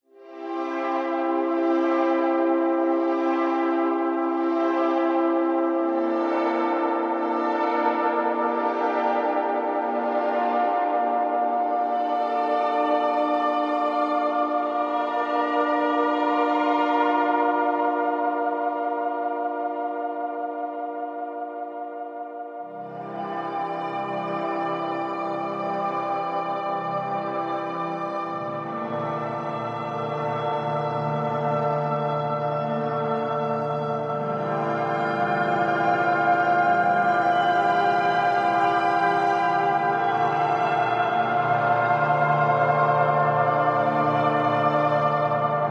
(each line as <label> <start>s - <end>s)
Violin 22.8s - 45.7s